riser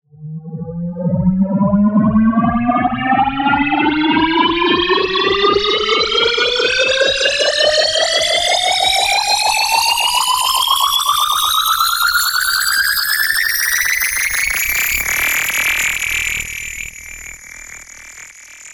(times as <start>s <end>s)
0.2s 10.3s